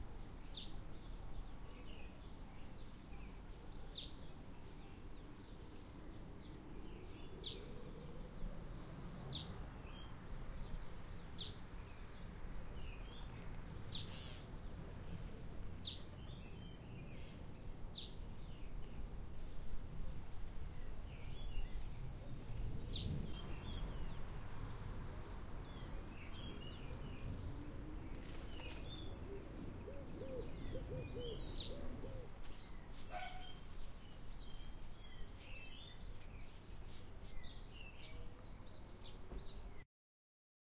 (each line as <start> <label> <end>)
0.0 lights wind breeze 39.8
0.2 Birds Chirping 39.8
33.1 dog barking in background 33.6